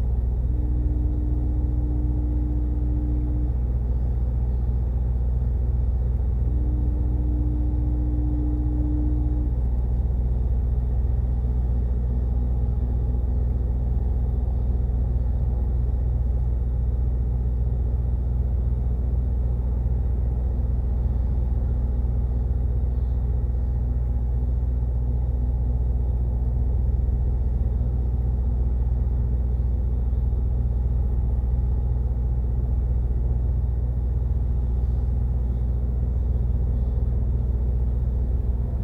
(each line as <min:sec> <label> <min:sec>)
0:00.0 distant shipping horn sounds 0:10.2
0:00.0 Departing ferry 0:38.8